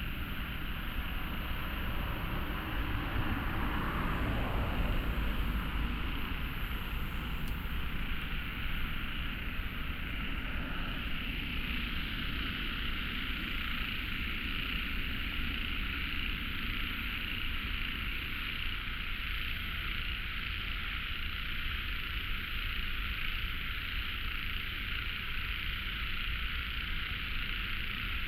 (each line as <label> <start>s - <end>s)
Traffic Sound 0.0s - 18.0s
Running sound 0.0s - 18.6s
Frogs 0.0s - 28.2s